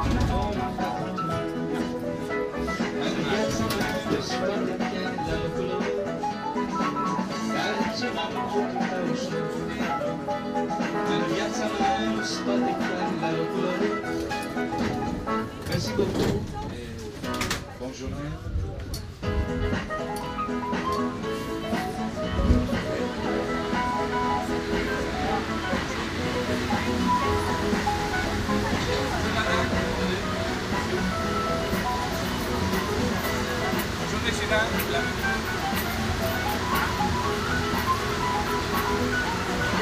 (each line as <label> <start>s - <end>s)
metro trip 0.0s - 39.8s